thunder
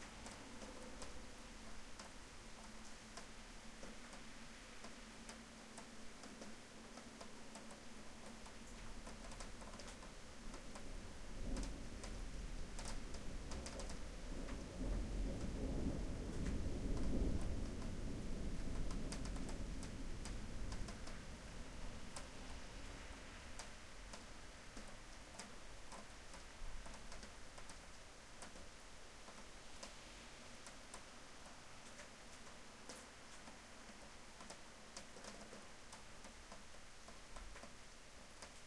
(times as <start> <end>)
11.4 21.1